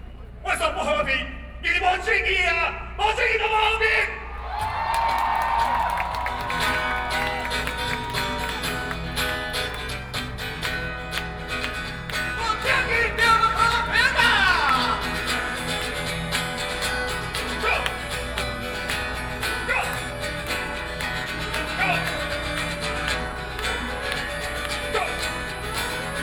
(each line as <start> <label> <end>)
4.3 shouting slogans 9.2
5.1 Rock band performing songs 26.2
12.3 shouting slogans 26.2